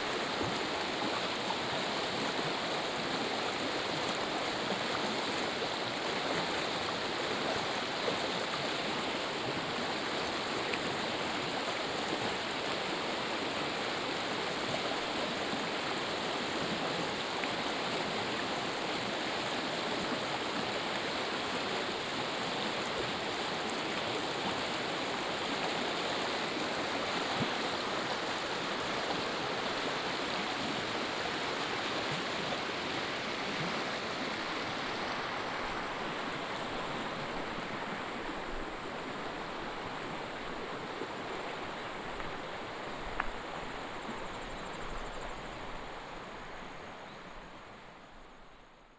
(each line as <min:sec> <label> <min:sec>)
0:00.0 Stream sound 0:48.9